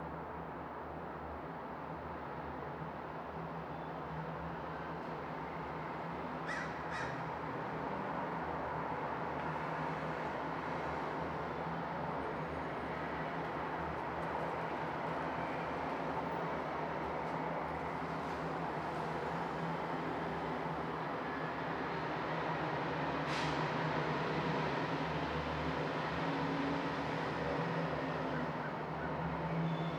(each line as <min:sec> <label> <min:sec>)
0:00.0 traffic 0:29.9
0:09.2 garbage truck arrives to collect the refuse 0:29.9